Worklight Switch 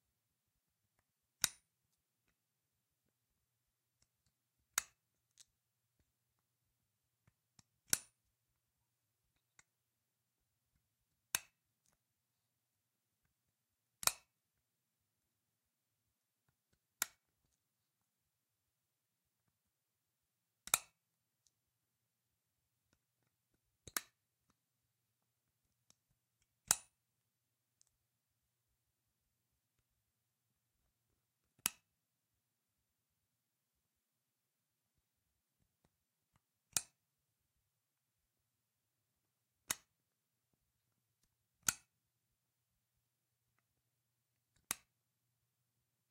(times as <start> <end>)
14.0 14.3, 20.6 21.0, 44.6 44.9